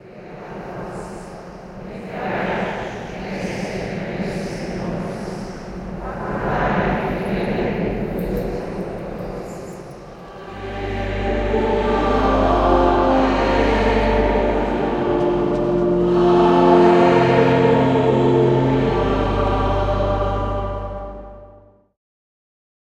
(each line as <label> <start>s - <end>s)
Prayer 0.0s - 21.6s
choir 0.0s - 21.8s